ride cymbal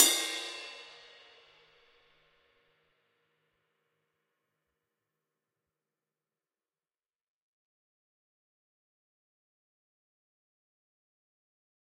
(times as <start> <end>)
0.0 1.5